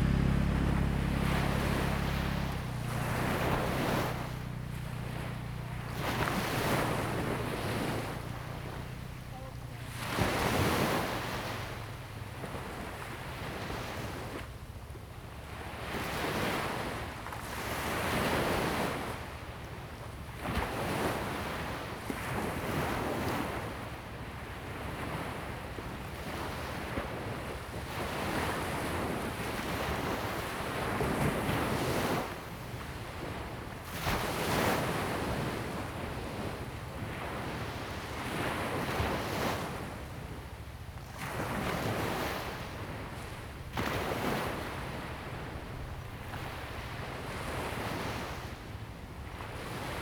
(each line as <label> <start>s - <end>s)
waves 0.0s - 14.6s
waves 15.4s - 50.0s